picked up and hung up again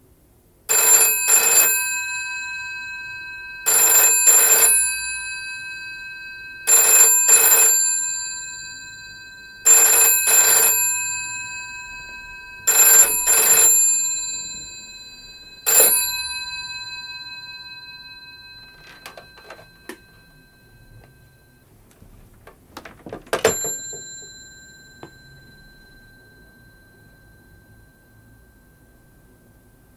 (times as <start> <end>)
22.4 24.4